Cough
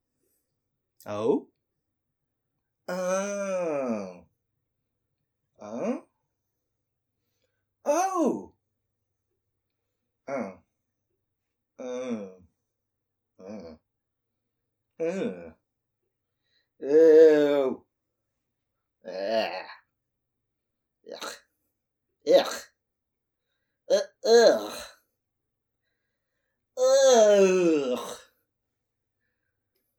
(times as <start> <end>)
21.1 21.4, 22.3 22.7